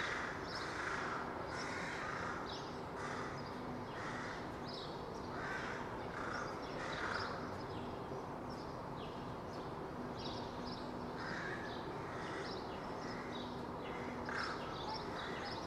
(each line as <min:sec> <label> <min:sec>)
0:00.0 crows cawing loudly 0:04.6
0:05.3 crows cawing loudly 0:07.4
0:11.2 crows cawing loudly 0:13.3
0:13.9 crows cawing loudly 0:15.4